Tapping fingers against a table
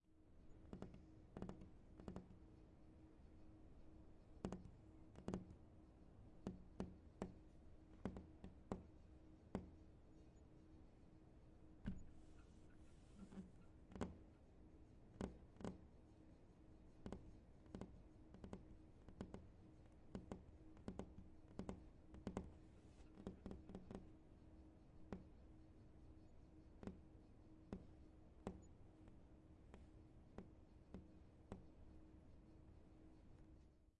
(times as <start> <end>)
0.6 2.4, 4.4 5.6, 6.4 8.9, 9.5 9.8, 13.2 14.2, 15.1 15.8, 17.0 19.5, 20.1 24.1, 25.1 25.3, 26.8 27.0, 27.7 31.7